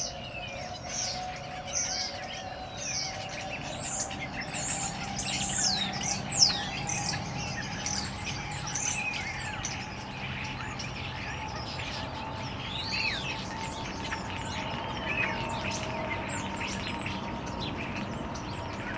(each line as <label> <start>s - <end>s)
birds in bush 0.0s - 18.9s